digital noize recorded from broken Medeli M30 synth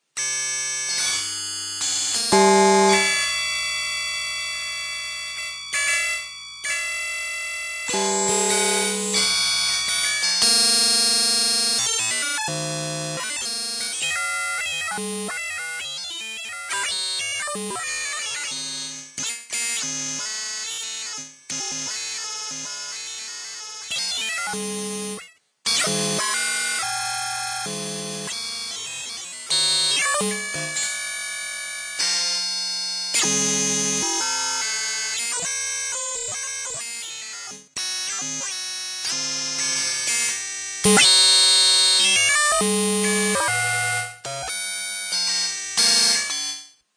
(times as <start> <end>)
2.4 3.2, 7.9 9.3, 29.6 30.9, 40.9 41.3